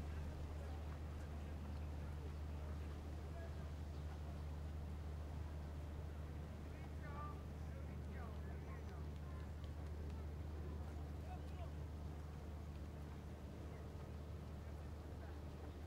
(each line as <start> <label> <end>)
0.0 departure of a paddle steamer boat 15.8